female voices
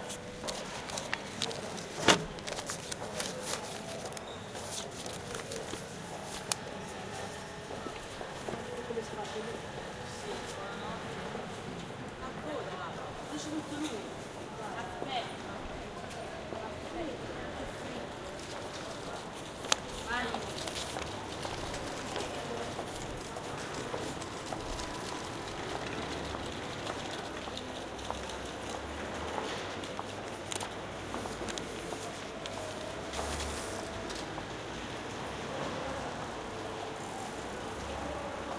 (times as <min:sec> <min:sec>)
0:20.0 0:20.6